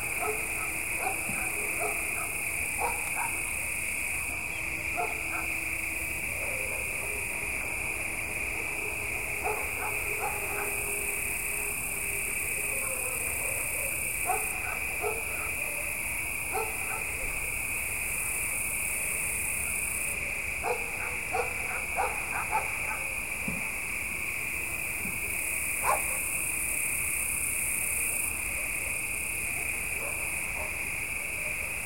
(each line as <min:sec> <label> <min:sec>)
0:00.0 far dog's barks 0:03.5
0:00.0 crickets 0:31.8
0:04.3 far dog's barks 0:05.6
0:06.3 far dog's barks 0:07.4
0:09.4 far dog's barks 0:10.9
0:12.6 far dog's barks 0:17.5
0:20.6 far dog's barks 0:23.2
0:25.8 far dog's barks 0:26.3
0:29.6 far dog's barks 0:31.8